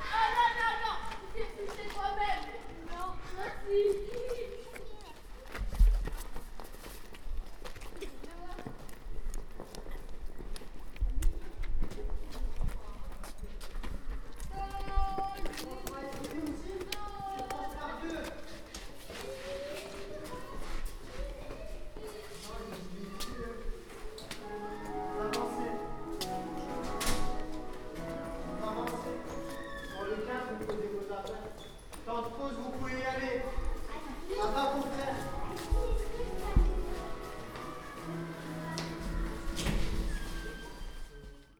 children playing in the schoolyard 0.0 - 41.5

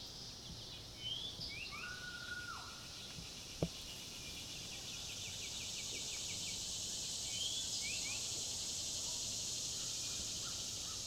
Birdsong 0.0 - 8.4
cicadas 0.0 - 11.0

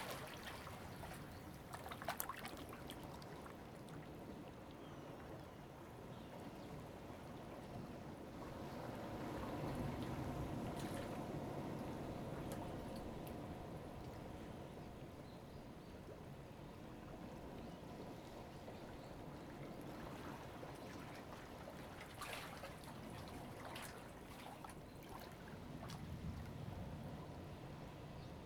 waves 0.0 - 28.4

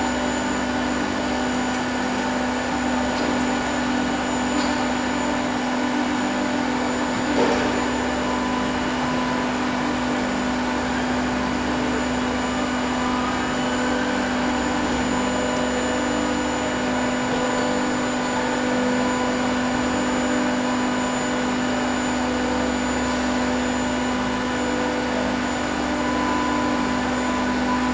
Industrial sized 3D printers work night and day 0.0 - 27.9

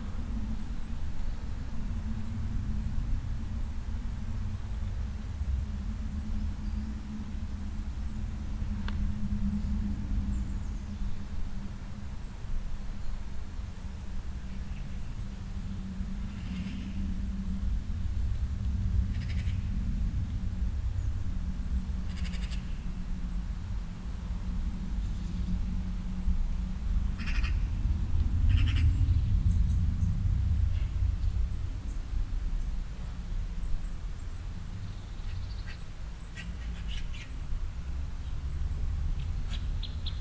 a little wind 0.0 - 40.2
birds 0.0 - 40.2
deep resonant bass of some traffic 0.0 - 40.2

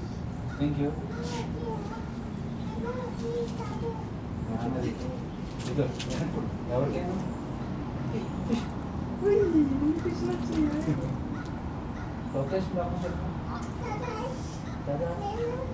Birds 0.0 - 15.7
traffic 0.0 - 15.7

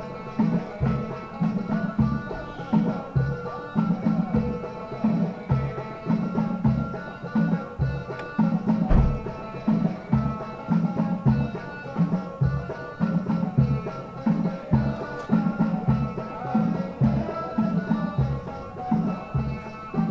Distant Berber music band 0.0 - 20.1

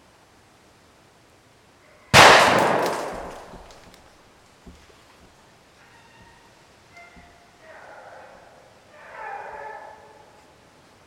Wind 0.0 - 11.0
dogs barking 7.3 - 10.4

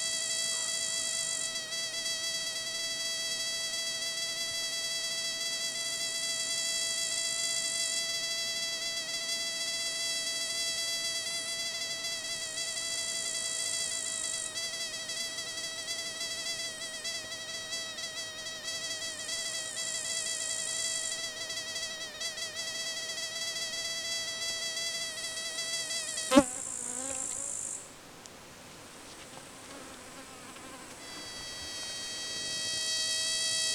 insect sitting on a leaf and producing these high-pitched sounds 31.0 - 33.7

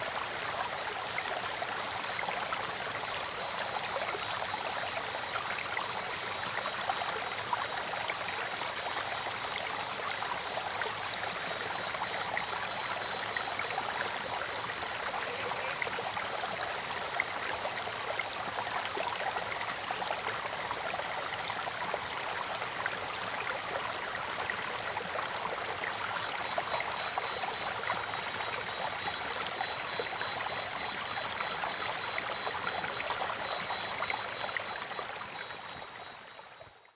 Small streams 0.0 - 36.9
Cicadas called 8.4 - 18.5
Frogs called 8.4 - 20.3
Cicadas called 26.1 - 36.9
Frogs called 26.1 - 36.9

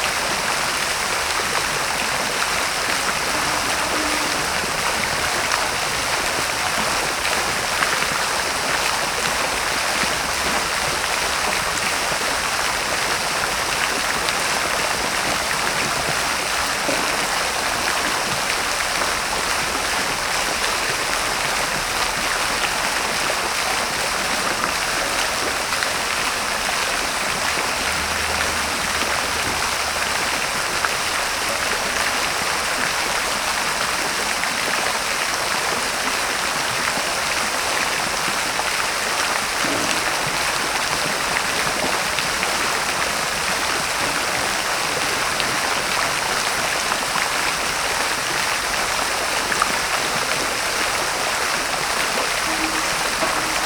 Fontanna 2.3 - 7.1
Fontanna 51.4 - 53.6

